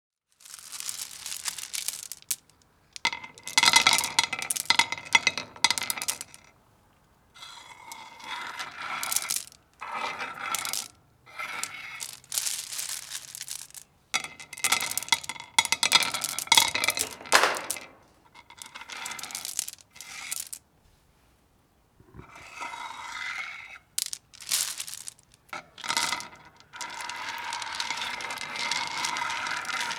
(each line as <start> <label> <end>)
0.3 Running my hands through a bed of smooth garen pebbles 2.5
0.5 dropping them onto themselves as well as a cement paver 6.4
0.5 scraping them off the paver 6.3
7.4 scraping them off the paver 20.6
8.3 Running my hands through a bed of smooth garen pebbles 13.8
9.0 dropping them onto themselves as well as a cement paver 20.6
18.9 Running my hands through a bed of smooth garen pebbles 20.6
22.2 scraping them off the paver 29.9
23.8 dropping them onto themselves as well as a cement paver 29.9
24.0 Running my hands through a bed of smooth garen pebbles 25.3